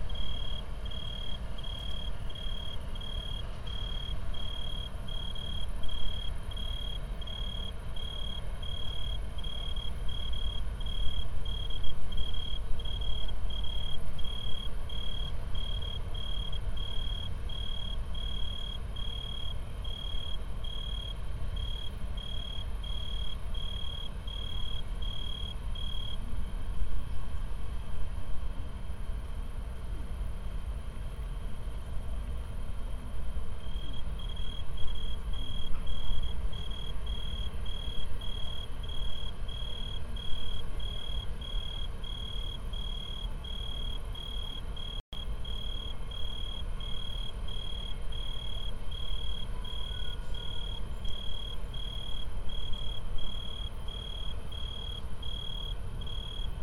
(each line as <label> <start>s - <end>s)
tree crickets 0.0s - 29.5s
trains 0.0s - 56.6s
tree crickets 30.2s - 56.6s